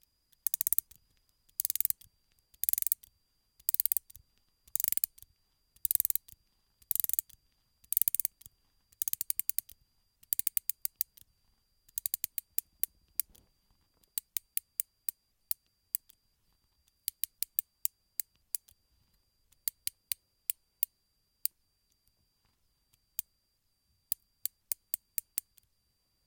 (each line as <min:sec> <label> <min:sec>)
0:00.3 Winding up/tightening of a clockwork mechanism 0:05.2
0:05.8 Winding up/tightening of a clockwork mechanism 0:11.2
0:11.9 Winding up/tightening of a clockwork mechanism 0:13.4